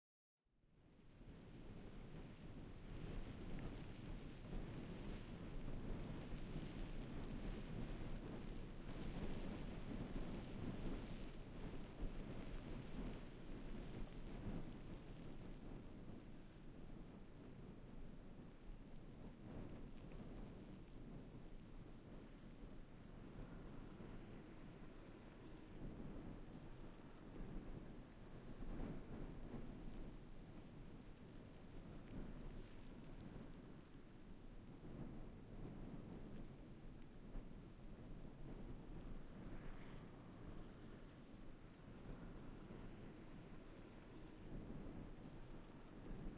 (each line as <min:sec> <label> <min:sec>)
0:00.8 swirling winter wind gusty grains sand 0:46.3